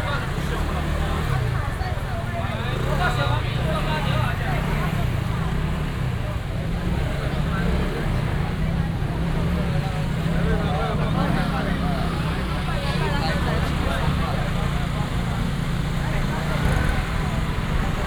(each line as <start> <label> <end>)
0.0 Walking in the traditional market 18.0
0.0 traffic sound 18.0